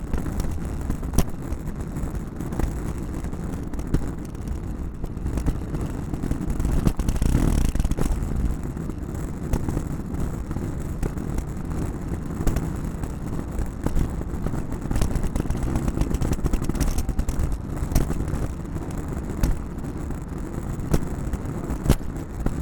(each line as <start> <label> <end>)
6.7 Luggage Bag Drag 8.5
14.7 Luggage Bag Drag 19.8